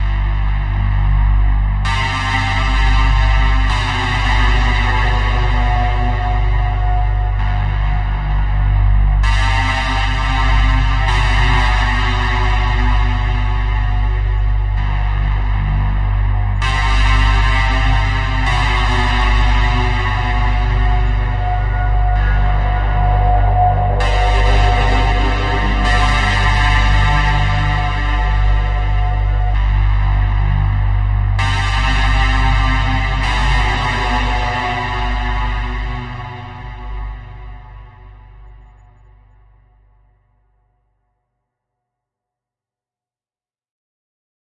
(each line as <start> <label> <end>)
0.0 synth 38.9
0.0 drone 40.0
0.0 bass 41.7